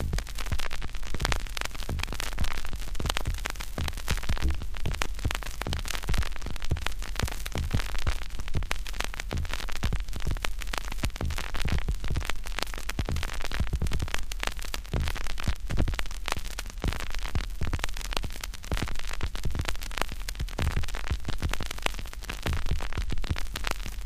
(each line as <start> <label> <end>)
0.0 Repeating vinyl crackle 24.0